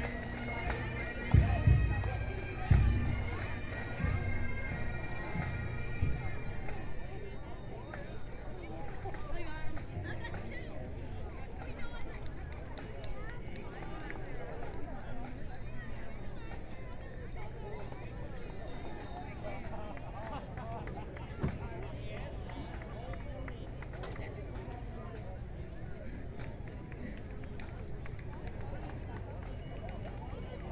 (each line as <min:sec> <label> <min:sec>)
0:00.0 Parade 0:30.7